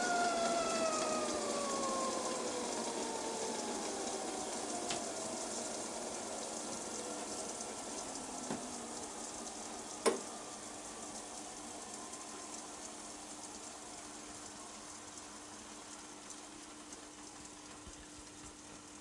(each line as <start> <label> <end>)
0.0 Tea Kettle Whistling On A Gas Stove 19.0
0.0 boiling 19.0